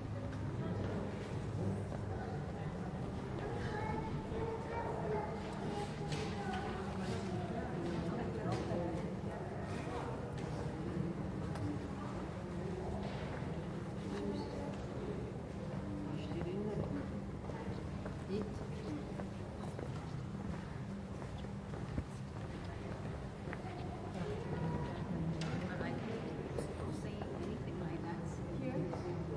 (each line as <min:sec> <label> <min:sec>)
0:22.6 tourists which speak in multiple languages 0:29.3